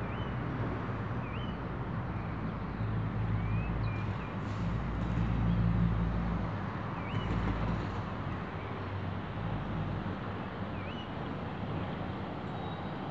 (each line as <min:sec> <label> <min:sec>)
0:00.0 birds are singing in the background 0:13.1
0:00.0 cars and buses pass by 0:13.1